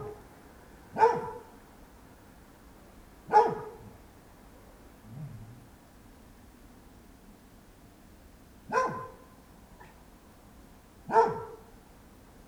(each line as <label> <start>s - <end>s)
Dog barking 0.0s - 0.2s
Dog barking 0.9s - 1.6s
Dog barking 3.3s - 4.0s
Dog barking 8.7s - 10.0s
Dog barking 11.1s - 11.7s